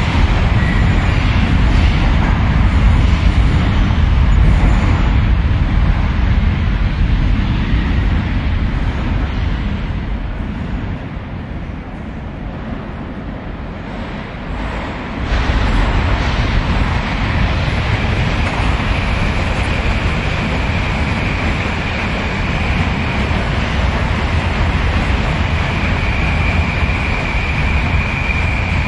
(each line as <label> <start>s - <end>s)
Subway trains 0.0s - 28.8s